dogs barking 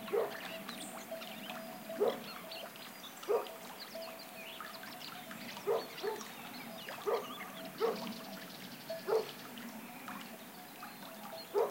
0.0 0.4, 2.0 2.3, 3.2 3.6, 5.6 6.3, 7.0 8.2, 9.0 9.4, 11.5 11.7

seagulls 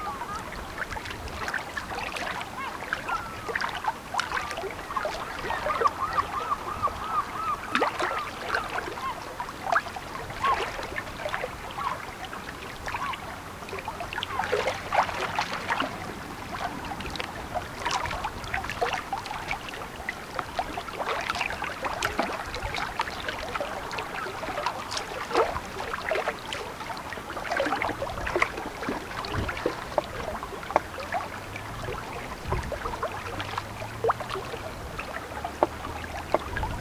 2.6 9.4

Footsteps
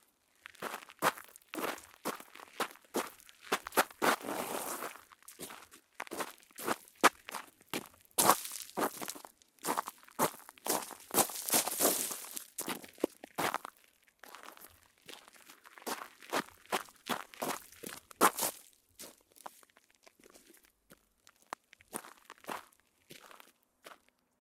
8.2 13.1

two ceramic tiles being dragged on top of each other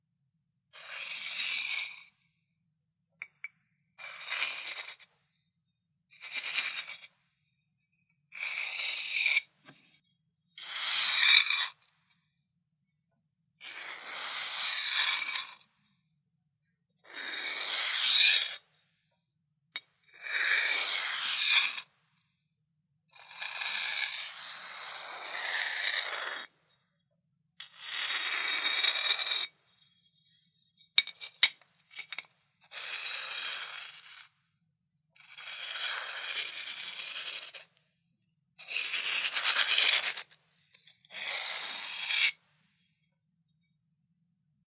3.2 5.2, 6.2 7.2, 8.3 10.0, 10.8 12.0, 23.4 26.6, 27.6 34.4, 35.3 37.8, 38.6 42.8

